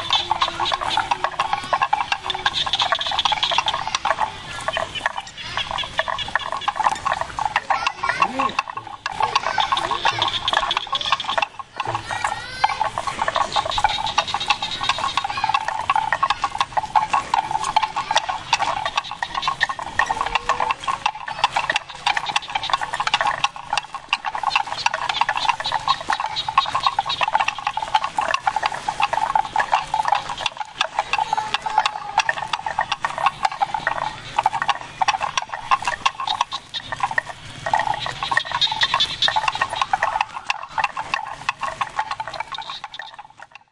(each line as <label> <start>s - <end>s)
wooden bells around cow's neck 0.0s - 43.7s